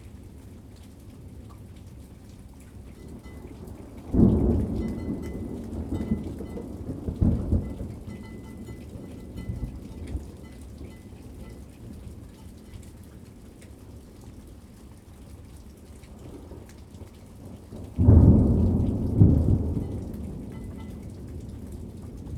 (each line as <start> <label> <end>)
3.0 thunderstorm 12.1
17.4 thunderstorm 22.3